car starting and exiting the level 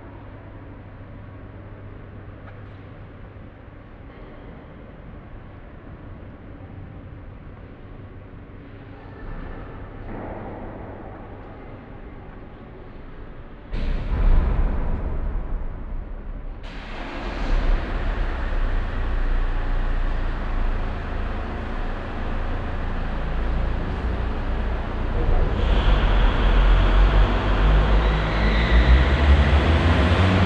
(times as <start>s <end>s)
16.6s 30.4s